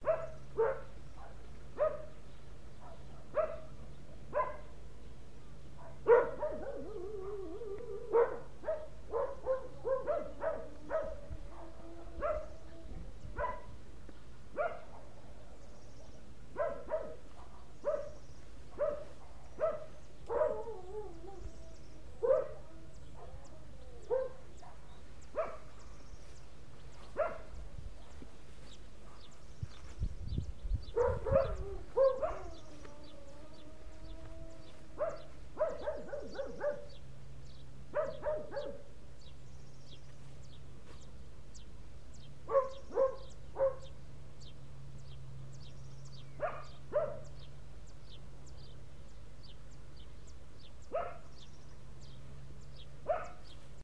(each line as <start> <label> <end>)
0.0 Dogs barking 2.2
2.8 Dogs barking 4.8
5.7 Dogs barking 13.8
14.5 Dogs barking 25.9
26.9 Dogs barking 30.0
30.9 Dogs barking 37.1
37.9 Dogs barking 39.0
42.4 Dogs barking 44.0
46.4 Dogs barking 47.5
50.9 Dogs barking 51.5
53.0 Dogs barking 53.6